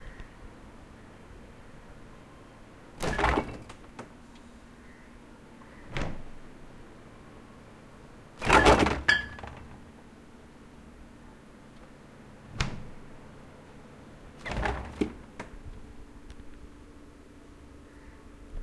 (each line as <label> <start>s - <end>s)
Fridge - Open and Close 3.0s - 4.2s
Fridge - Open and Close 5.7s - 6.5s
Fridge - Open and Close 8.4s - 10.0s
Fridge - Open and Close 12.5s - 13.2s
Fridge - Open and Close 14.4s - 15.7s